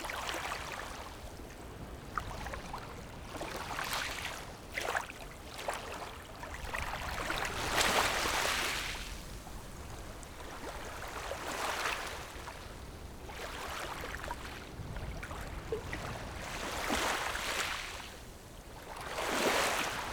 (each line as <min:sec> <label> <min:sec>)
0:00.0 waves 0:20.1